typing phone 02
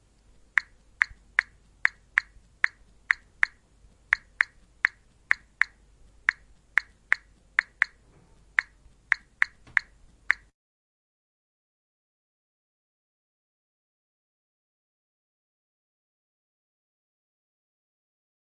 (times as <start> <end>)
0.6 10.5